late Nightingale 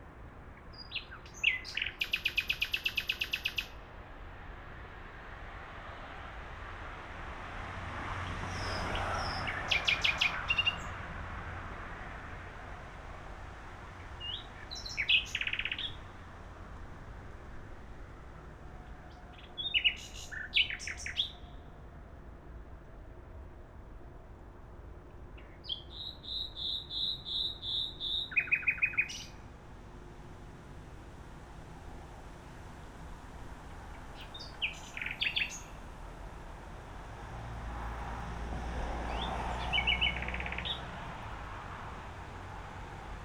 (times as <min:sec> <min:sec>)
0:00.6 0:03.8, 0:08.6 0:11.0, 0:14.0 0:16.1, 0:18.8 0:21.7, 0:25.4 0:36.6, 0:39.0 0:41.2